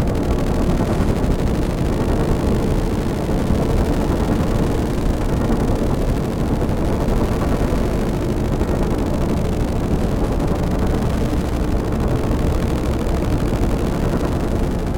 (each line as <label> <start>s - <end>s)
drone 0.0s - 14.9s